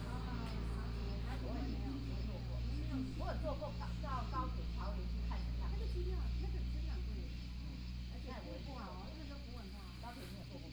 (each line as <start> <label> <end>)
0.0 Traffic sound 7.2
0.0 Cicadas sound 10.7
0.0 Tourists chatting under the tree 10.7